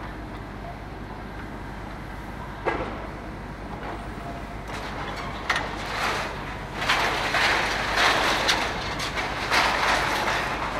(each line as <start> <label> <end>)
0.0 crane 10.7
0.0 excavator 10.7
2.6 Demolition waste is beeing sorted and filled in a container 10.7